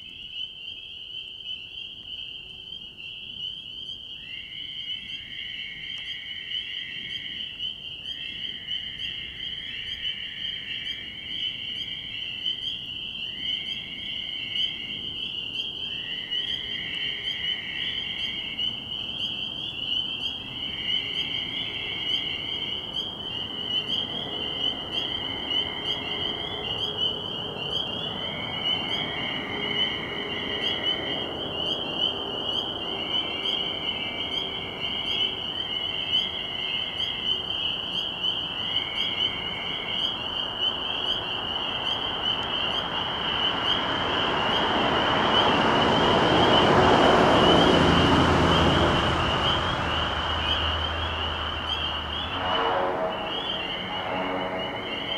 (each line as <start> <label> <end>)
0.0 Fowler's toads 55.1
0.0 spring peepers 55.1